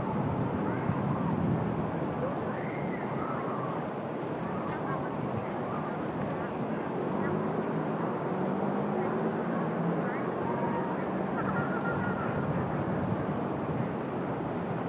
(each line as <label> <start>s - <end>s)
distant voices 0.0s - 14.8s